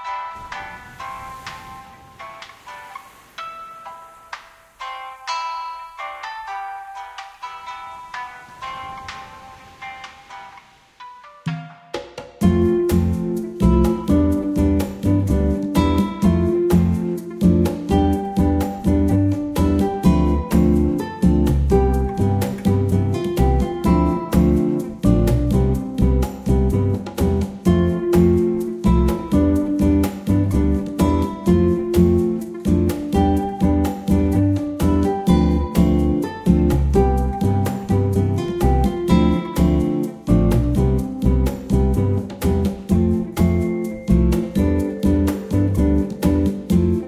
Guitar 0:00.0 - 0:47.0
Bongos 0:07.1 - 0:47.0
Shaker 0:12.4 - 0:47.0
Upright Bass 0:12.4 - 0:47.0
Xylophone 0:42.6 - 0:47.0

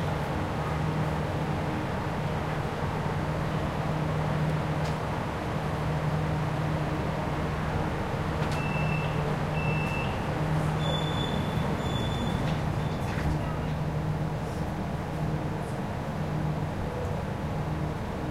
train 0:00.0 - 0:18.3

